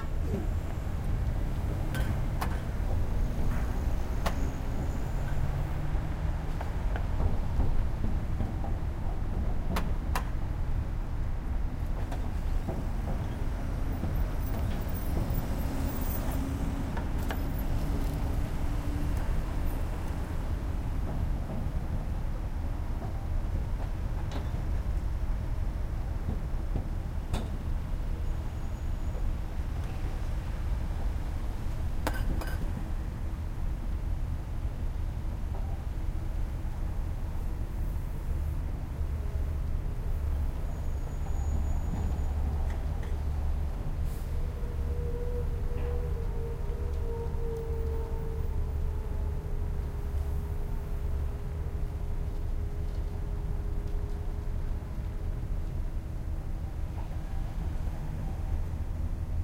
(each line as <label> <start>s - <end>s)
construction 0.0s - 33.9s
Traffic 0.0s - 59.4s